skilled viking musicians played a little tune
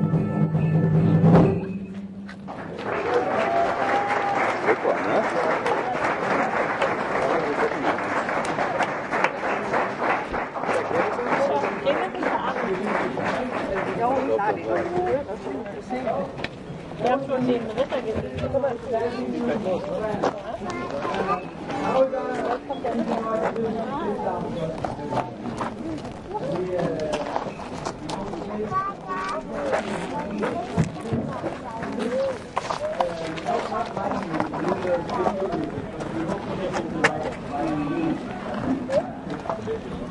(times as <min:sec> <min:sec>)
0:00.0 0:02.8